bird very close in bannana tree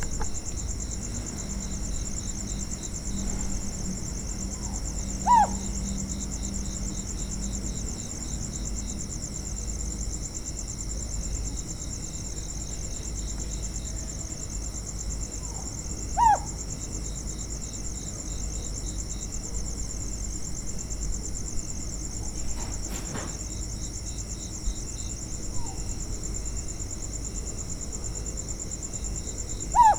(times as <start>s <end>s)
0.0s 8.2s, 14.8s 17.2s, 29.1s 29.9s